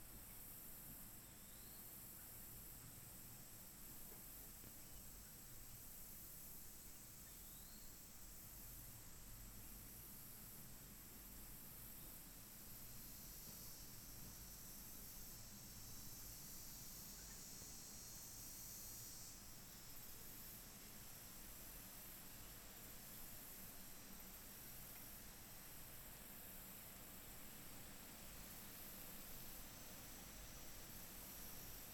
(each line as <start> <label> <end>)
0.0 cicadas 31.9
0.0 wind 31.9